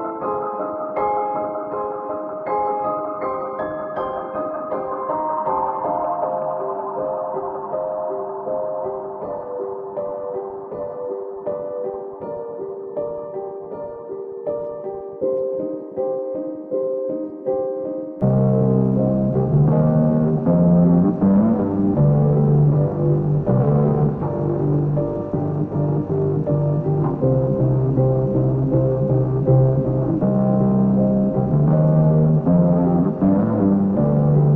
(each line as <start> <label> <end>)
0.0 piano 34.5
18.2 bass 34.5